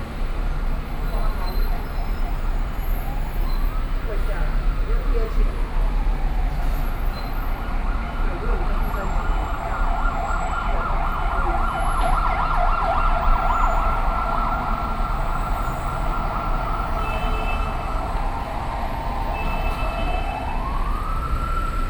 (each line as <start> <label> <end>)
0.0 walking in the Street 21.8